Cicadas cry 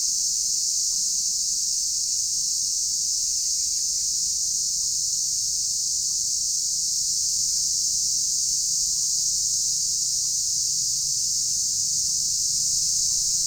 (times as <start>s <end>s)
6.3s 13.4s